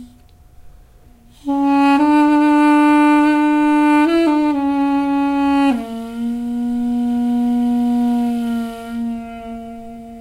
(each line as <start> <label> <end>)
1.2 duduk 10.2